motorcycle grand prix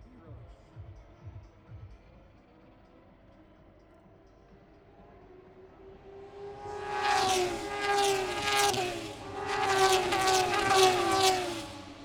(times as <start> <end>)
4.2 12.0